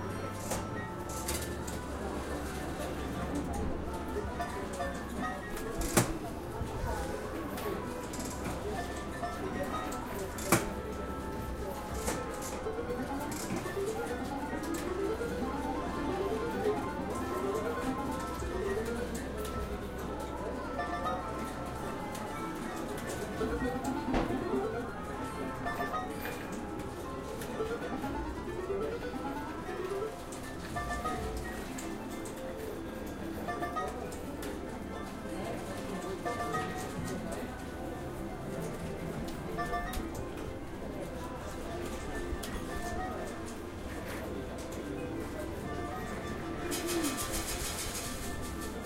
0.0s slot machine 48.8s

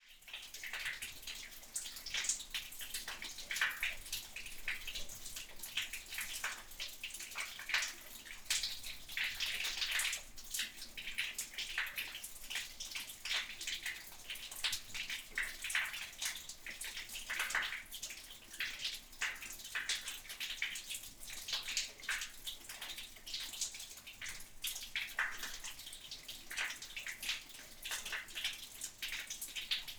0.0s Water dripping into a storwater drain 29.9s

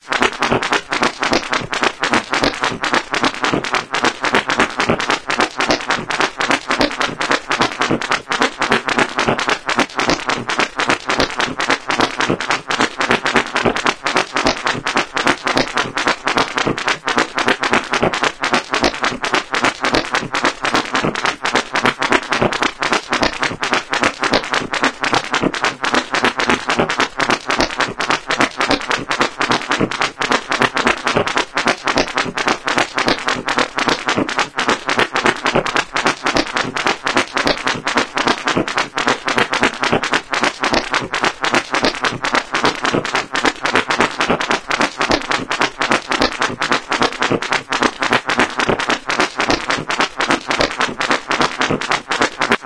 0.0s weird beat 52.6s

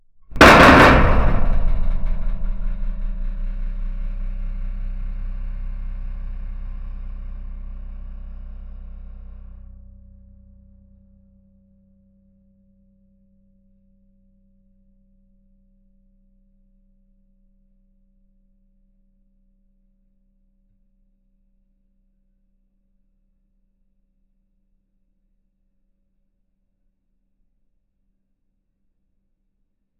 0.3s metal crash reverberant rattle 6.9s

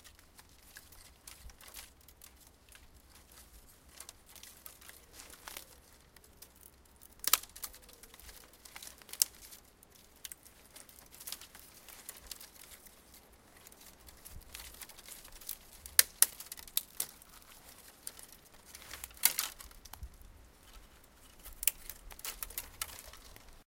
0.0s Branches snapping and cracking 23.6s

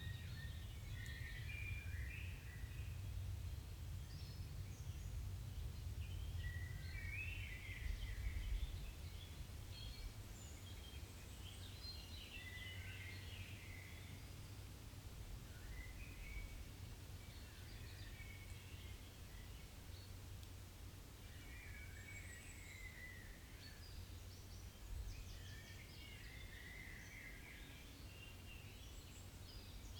21.2s birds 29.9s

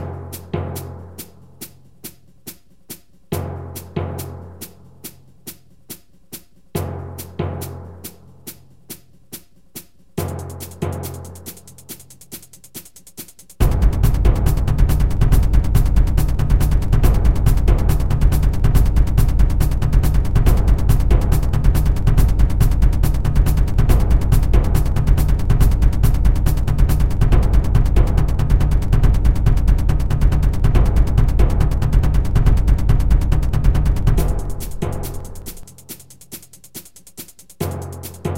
0.0s Hihat 38.3s
0.0s bassdrum acoustic 38.3s
7.6s brush 38.3s

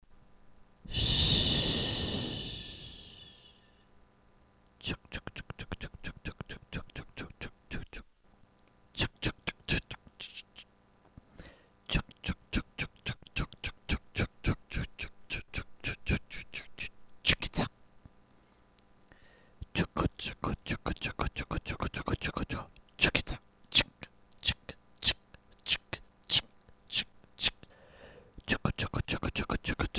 0.9s Vocal FX Chuckchuckchukica 3.5s
4.8s Vocal FX Chuckchuckchukica 8.1s
8.9s Vocal FX Chuckchuckchukica 10.7s
11.4s Vocal FX Chuckchuckchukica 17.7s
19.6s Vocal FX Chuckchuckchukica 27.7s
28.3s Vocal FX Chuckchuckchukica 29.9s

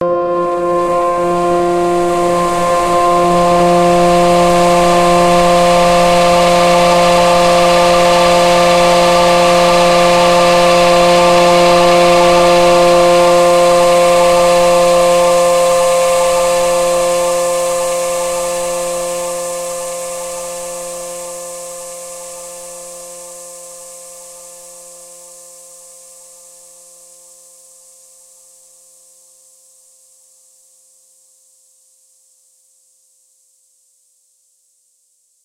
0.0s multisampled pad 25.8s
0.0s strings 19.8s
4.0s rain 19.3s

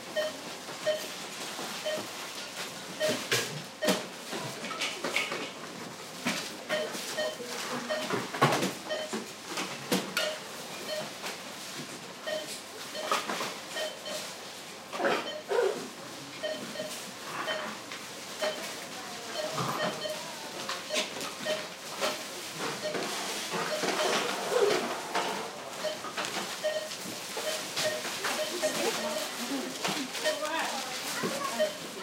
0.2s Beeps from several barcode readers 1.1s
3.0s Beeps from several barcode readers 4.0s
6.7s Beeps from several barcode readers 8.2s
8.9s Beeps from several barcode readers 9.2s
10.2s Beeps from several barcode readers 11.2s
12.2s Beeps from several barcode readers 14.3s
15.2s Beeps from several barcode readers 15.5s
16.4s Beeps from several barcode readers 24.8s
25.8s Beeps from several barcode readers 30.5s
31.2s Beeps from several barcode readers 32.0s

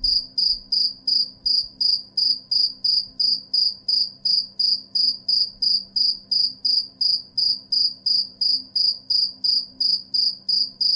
0.0s single cricket 10.9s

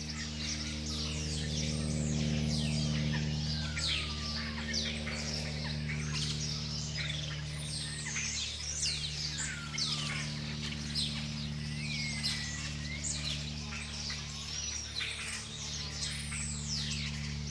0.0s Airplane in BG 17.5s
0.0s house-sparrows 17.5s
0.0s other birds calling 17.5s

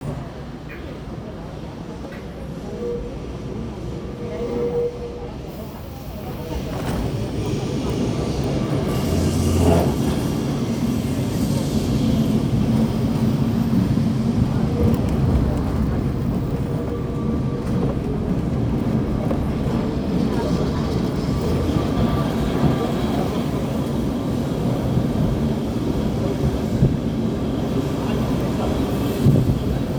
0.0s Tram proceeds, brakes and stops 29.9s
24.5s wind noise 29.9s

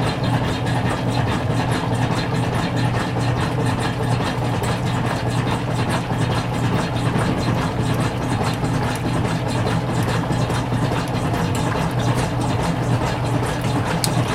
0.0s washing machines 14.3s

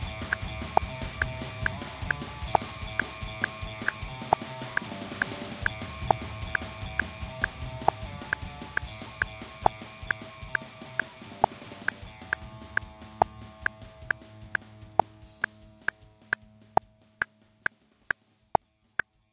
0.0s backing track of music 16.5s

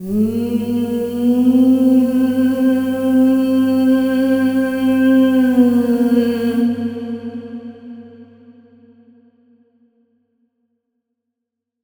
0.0s female vocal line with big reverb 8.5s

